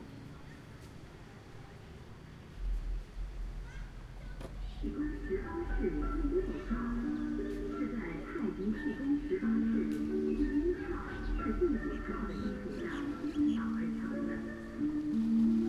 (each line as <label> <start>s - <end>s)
noise/music coming from the local park 0.0s - 15.6s